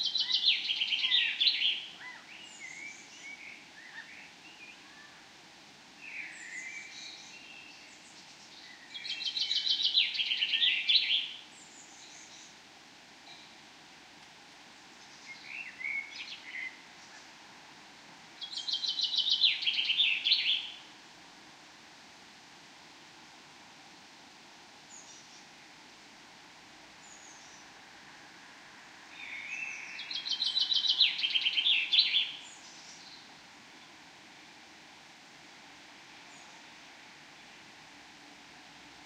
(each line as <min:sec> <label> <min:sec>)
0:06.0 various birds 0:12.6
0:18.4 various birds 0:20.8
0:29.2 various birds 0:33.9